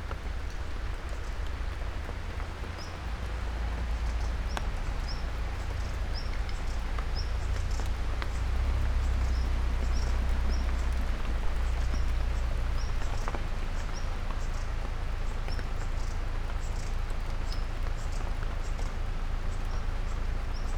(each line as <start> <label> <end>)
0.0 rain drops on leaves 20.7